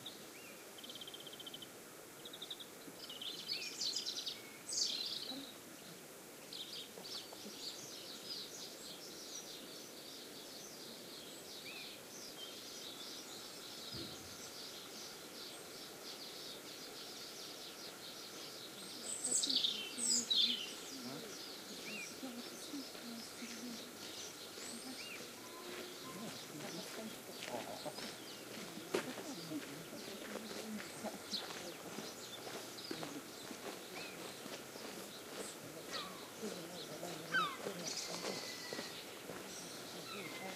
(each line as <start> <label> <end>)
0.0 bird song 40.5
0.0 greenfinches 40.5
2.5 walkers' footsteps passing regularly 40.5
18.3 murmur of the walkers talking 40.5